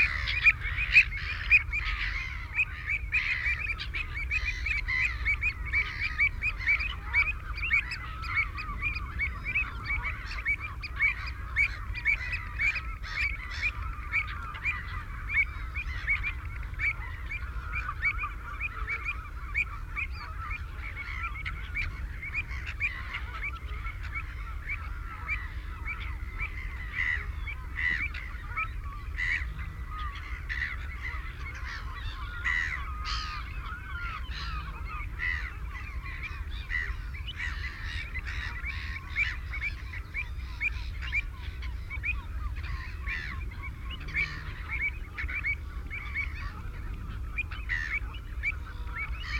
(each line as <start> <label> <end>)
0.0 black-headed gull 49.3
0.0 boats 49.3
0.0 canada goose 49.3
0.0 herring gull 49.3
0.0 ringed plover 49.3